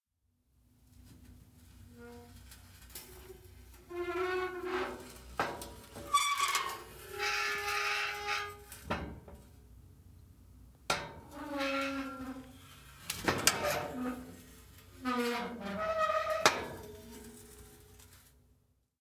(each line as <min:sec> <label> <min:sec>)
0:02.0 Metal gate on a trailer opening and closing 0:09.4
0:10.9 Metal gate on a trailer opening and closing 0:18.2